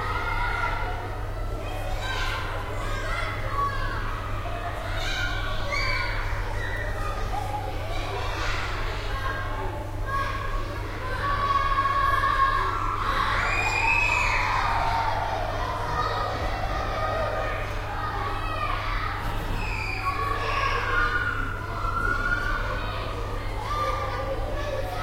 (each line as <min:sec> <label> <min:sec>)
0:00.0 children are yelling, screaming 0:25.0
0:00.0 noise of an air conditioning 0:25.0